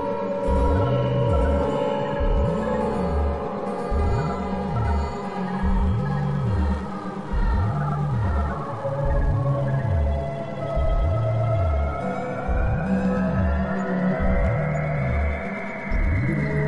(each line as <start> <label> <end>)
0.0 guitar 16.6